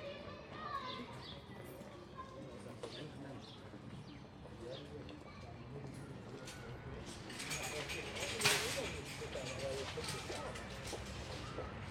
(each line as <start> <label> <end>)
6.4 customers 11.9
7.1 shopping trolleys 11.9